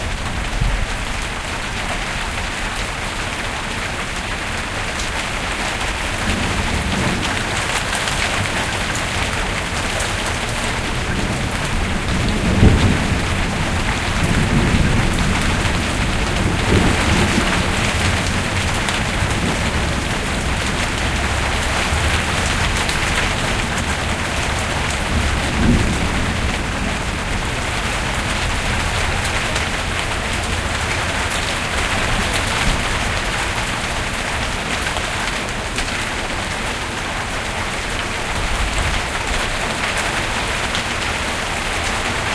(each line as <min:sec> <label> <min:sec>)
0:00.0 Heavy raindrops 0:42.3
0:00.0 street noise 0:42.3
0:05.8 distant thunders 0:34.8